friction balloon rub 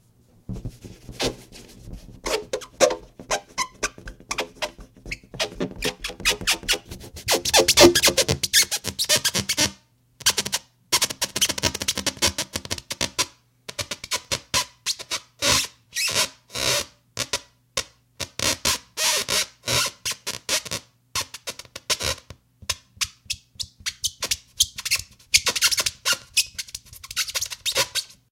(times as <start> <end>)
0.5 9.5